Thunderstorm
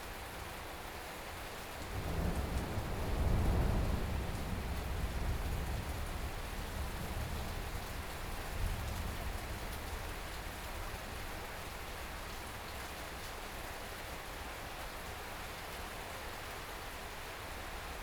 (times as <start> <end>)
1.8 11.3